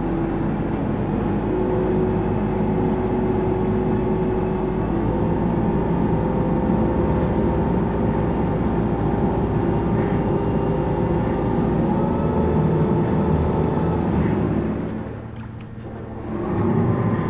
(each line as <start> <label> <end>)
0.0 Shuttle boat 17.2